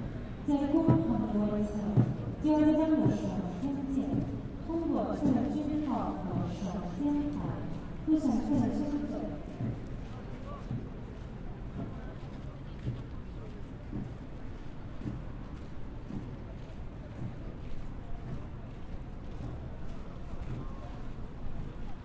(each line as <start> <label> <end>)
0.5 voice 9.4